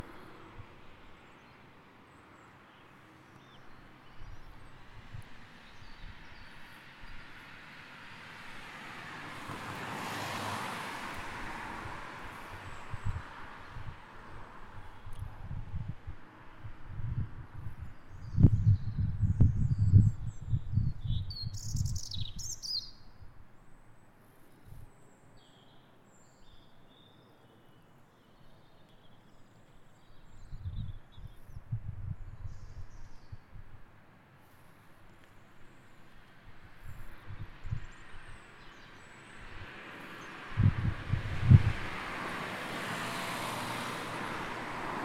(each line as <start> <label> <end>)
0.0 traffic 45.0
17.8 Birds 33.5